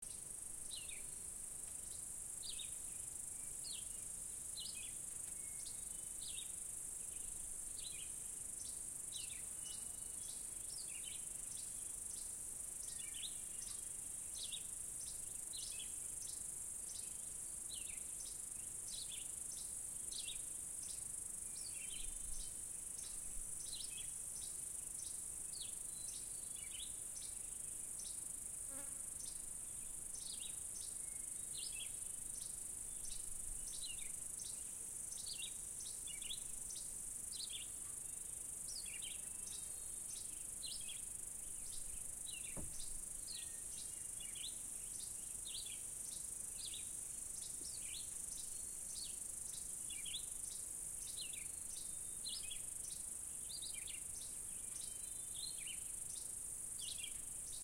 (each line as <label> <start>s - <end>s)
insects 0.0s - 57.6s
birds 28.0s - 57.6s